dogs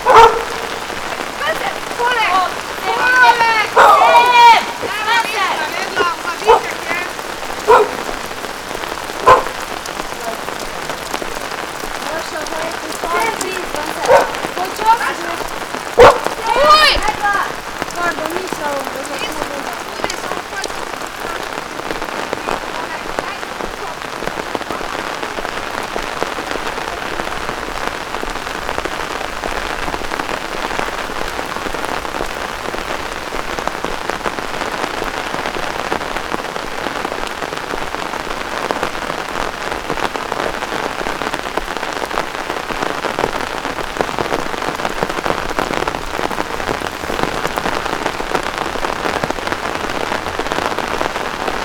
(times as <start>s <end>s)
0.0s 0.9s, 2.9s 8.4s, 9.1s 9.8s, 13.0s 17.6s